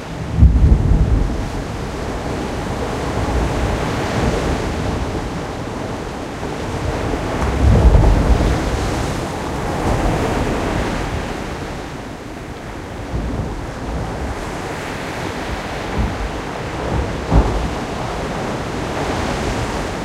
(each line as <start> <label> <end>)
0.0 Waves crushing on a rocky area 20.0